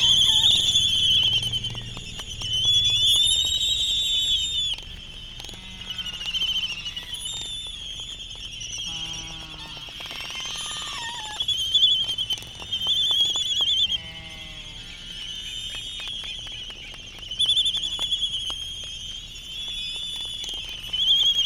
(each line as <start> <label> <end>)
0.0 Laysan albatross dancing 7.3